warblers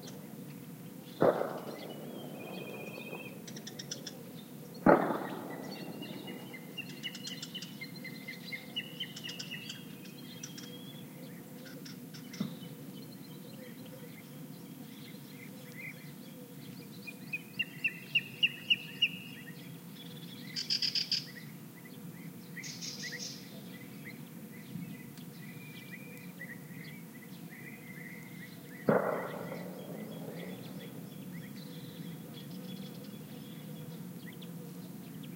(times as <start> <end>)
0.0 10.0, 25.2 35.3